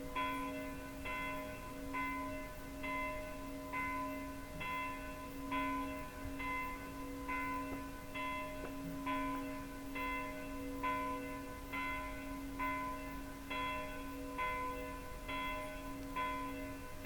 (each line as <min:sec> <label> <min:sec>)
0:00.0 bells of the surrounding villages 0:17.0